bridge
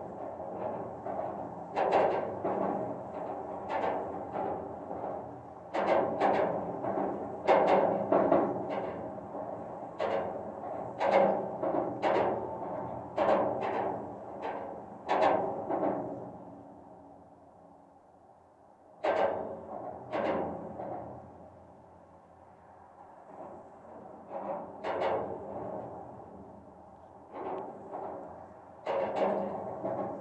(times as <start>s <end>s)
19.0s 30.2s